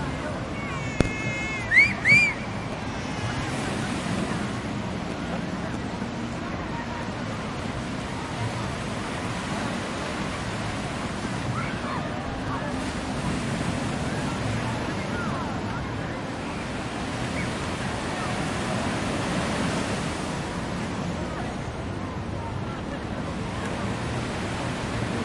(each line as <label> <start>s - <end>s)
families on the beach 0.0s - 25.2s
ocean 0.0s - 25.2s